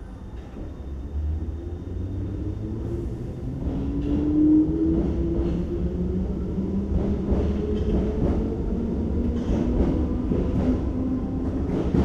another train departing on the other track 0.0 - 12.0
train arriving and departing 0.0 - 12.0

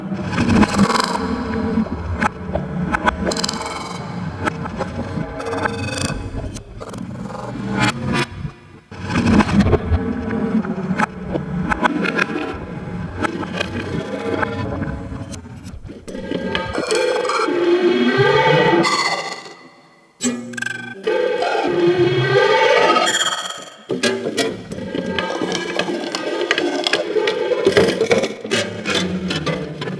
comb filter feedback 0.0 - 16.9

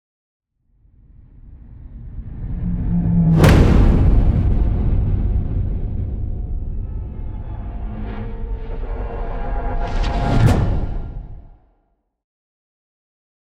whoosh 1.4 - 11.6
implosion 3.1 - 11.6
explosion 3.2 - 11.6

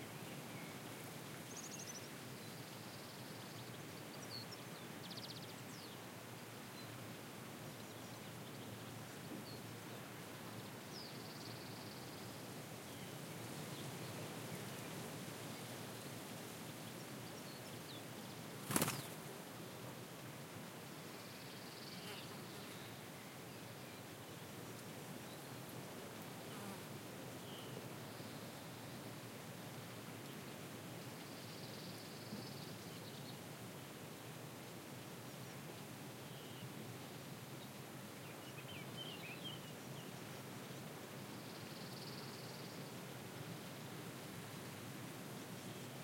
wind 0.0 - 46.0
a bird starts flying 18.6 - 19.2

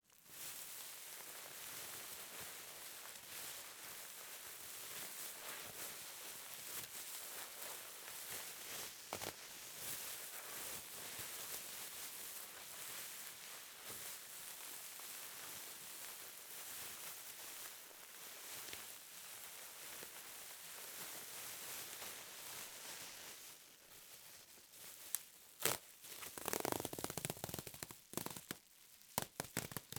bubble wrap being ripped, squashed, squeezed and popped 8.9 - 9.8
bubble wrap being ripped, squashed, squeezed and popped 24.9 - 29.9

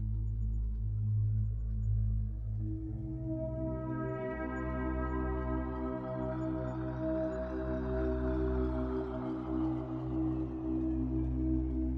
synthesizer 0.0 - 11.9

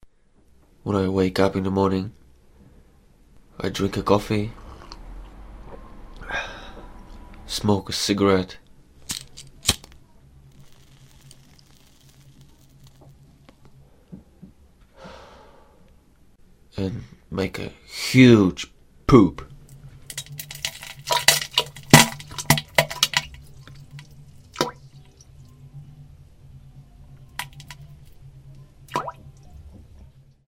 coffe 9.0 - 13.8
cigarette 9.6 - 13.6
coffe 20.0 - 25.7
poop 24.6 - 24.9
coffe 27.2 - 28.6
poop 28.9 - 29.3

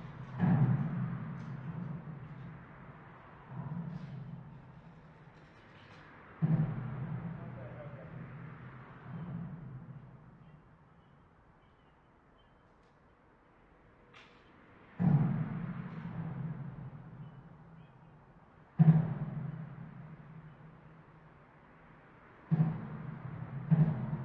passing by cars 0.0 - 10.9

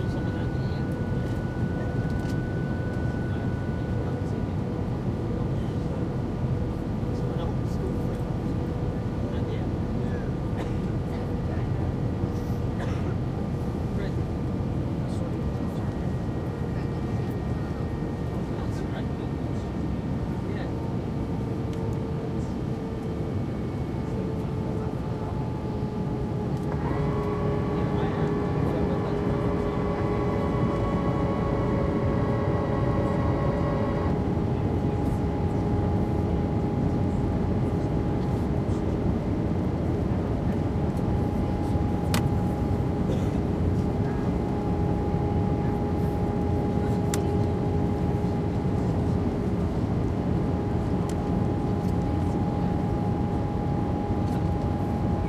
british youths can be heard softly chatting 0.0 - 55.2
engine whine 0.0 - 55.2
plane touches down on the runway 0.0 - 55.2

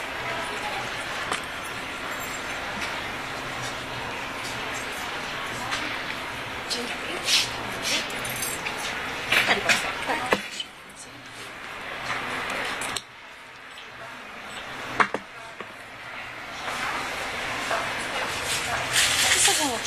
voices 0.0 - 19.8

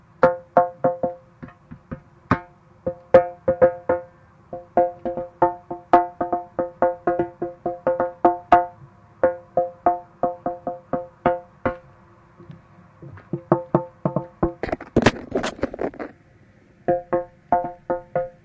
percussion 0.2 - 11.9
percussion 16.9 - 18.4

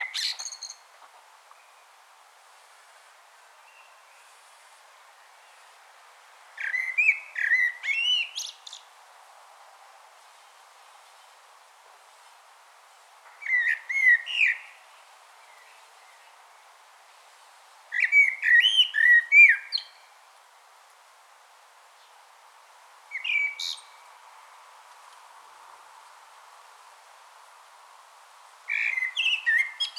Blackbird singing 0.0 - 0.8
Blackbird singing 6.6 - 8.8
Blackbird singing 13.4 - 14.7
Blackbird singing 18.0 - 20.0
Blackbird singing 23.1 - 24.0
Blackbird singing 28.7 - 29.9

